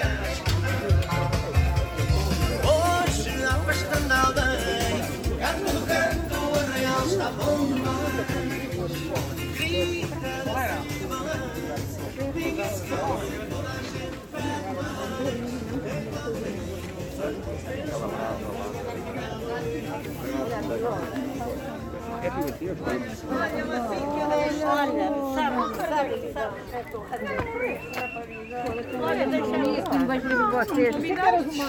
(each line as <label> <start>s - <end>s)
música 0.0s - 22.6s